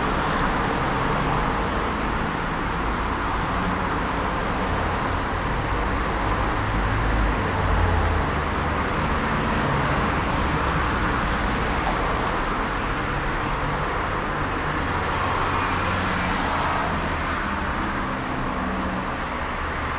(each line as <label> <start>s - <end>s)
Traffic noise 0.0s - 19.9s